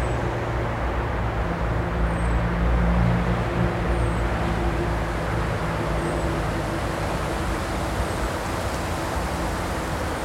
highway 0.0 - 10.2
metro 0.0 - 10.2
river 0.0 - 10.2
truck 0.0 - 10.2
wind in trees 0.0 - 10.2

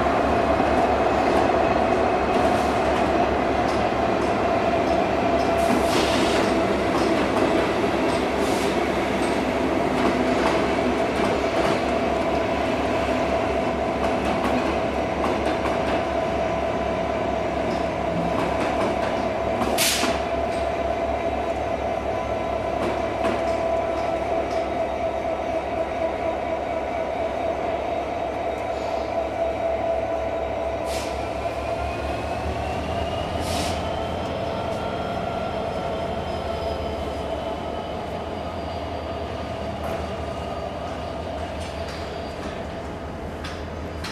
express train 0.0 - 44.1

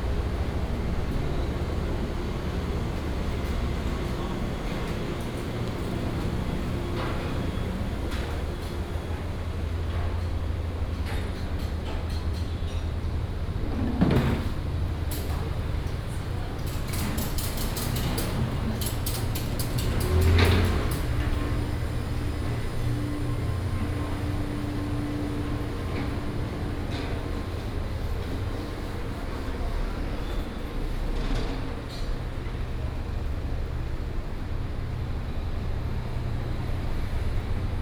Walking through the old market 0.0 - 37.8

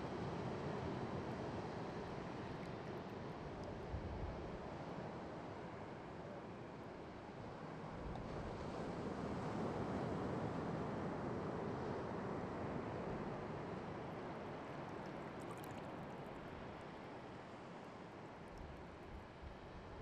waves of Pacific 0.2 - 19.7

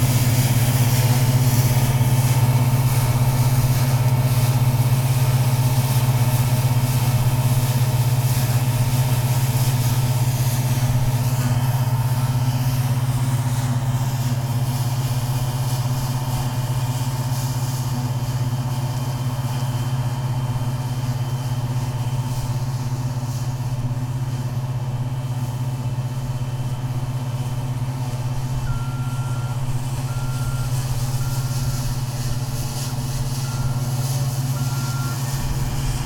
combined harvester in a barley field 0.0 - 36.0
wind 0.0 - 36.0

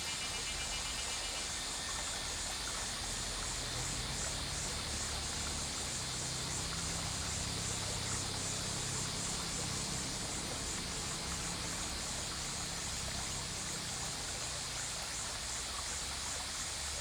Cicadas cry 0.0 - 17.0
river 0.0 - 17.0

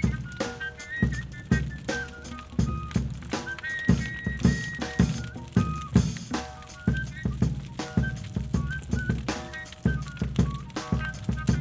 big fire 0.0 - 11.6
live drums 0.0 - 11.6

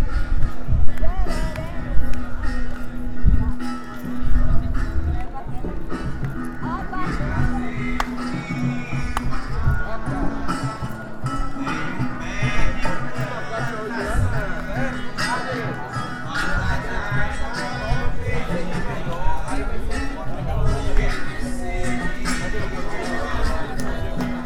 música ao vivo 0.0 - 24.4

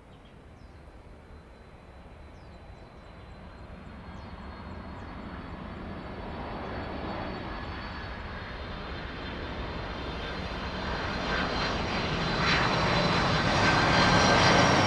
The plane flew through 6.1 - 14.8

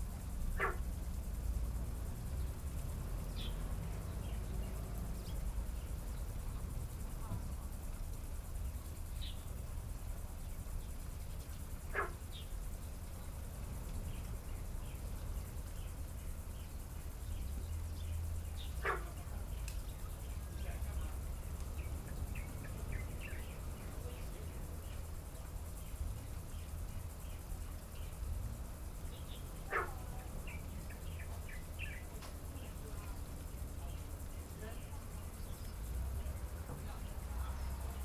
Frogs sound 0.4 - 1.0
Frogs sound 16.3 - 25.2
Frogs sound 26.6 - 38.0

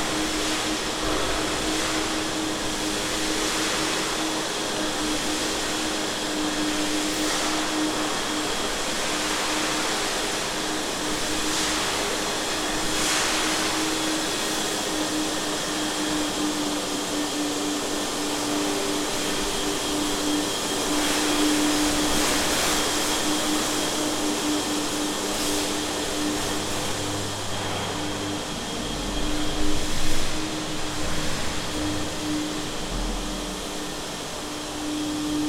cleanning a hallway 0.0 - 35.4

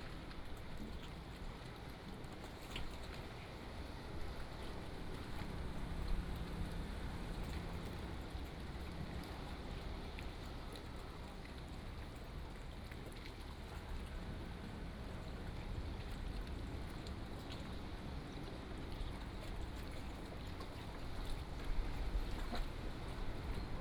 waves 0.0 - 23.8

